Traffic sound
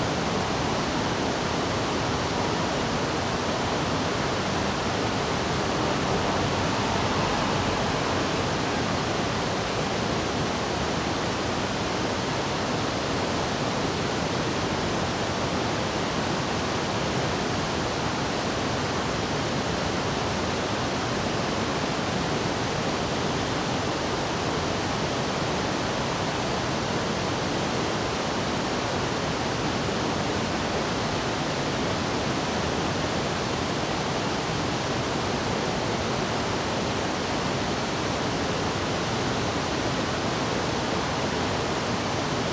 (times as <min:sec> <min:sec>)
0:00.2 0:11.4